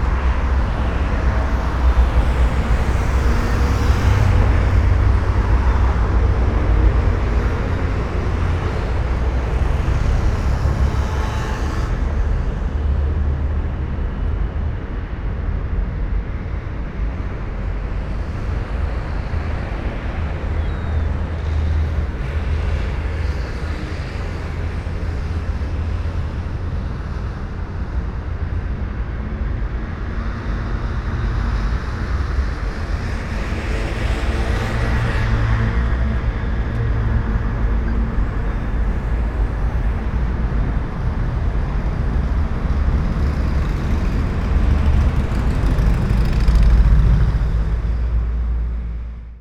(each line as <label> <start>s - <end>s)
heavy car traffic 0.0s - 49.4s